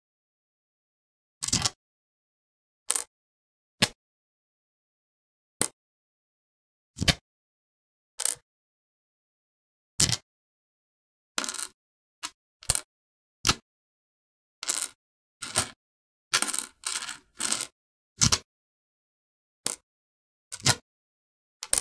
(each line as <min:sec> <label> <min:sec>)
0:01.4 Putting down a coin onto a stone floor 0:01.8
0:02.9 Putting down a coin onto a stone floor 0:03.1
0:02.9 picking up a coin from a stone floor 0:03.1
0:08.2 Putting down a coin onto a stone floor 0:08.4
0:08.2 picking up a coin from a stone floor 0:08.4
0:10.0 Putting down a coin onto a stone floor 0:10.2
0:11.4 Putting down a coin onto a stone floor 0:12.9
0:11.4 picking up a coin from a stone floor 0:12.9
0:14.6 picking up a coin from a stone floor 0:18.4
0:14.6 Putting down a coin onto a stone floor 0:18.4
0:19.6 Putting down a coin onto a stone floor 0:19.8
0:19.6 picking up a coin from a stone floor 0:19.8
0:20.5 Putting down a coin onto a stone floor 0:20.8